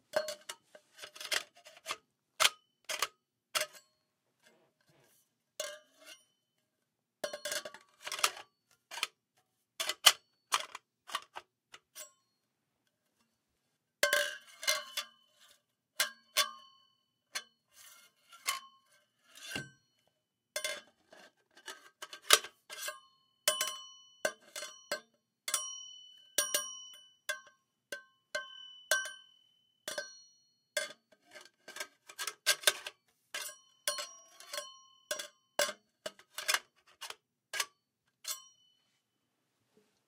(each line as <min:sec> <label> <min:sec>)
0:00.0 Assembling a metal stripper pole 0:06.6
0:07.2 Assembling a metal stripper pole 0:13.3
0:14.0 Assembling a metal stripper pole 0:38.9
0:24.7 metal pipe hits with ring 0:30.4